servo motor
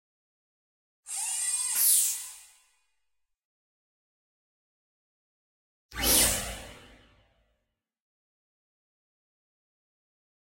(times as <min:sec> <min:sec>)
0:01.1 0:02.6